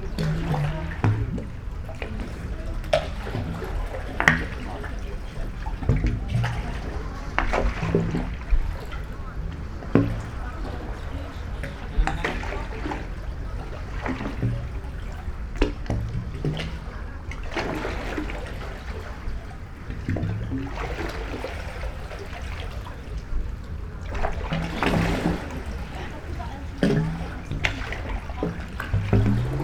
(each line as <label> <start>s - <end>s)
sea 0.0s - 29.6s
walk inside of concrete pool 0.0s - 29.6s